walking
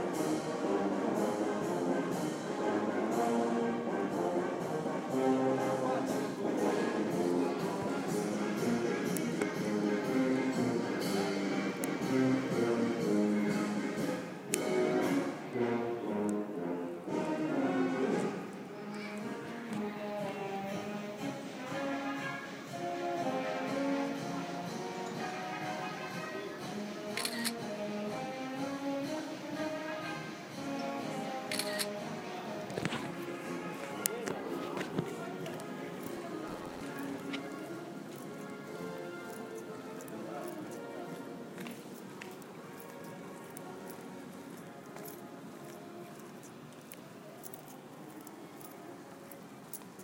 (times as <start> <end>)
31.5 50.0